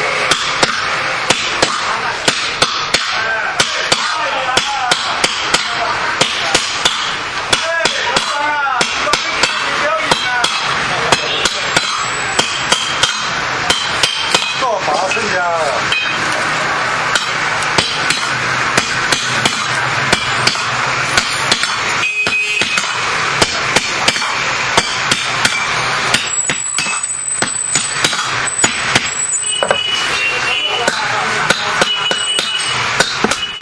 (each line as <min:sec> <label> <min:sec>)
0:00.0 forging metalware with means of hammer 0:33.6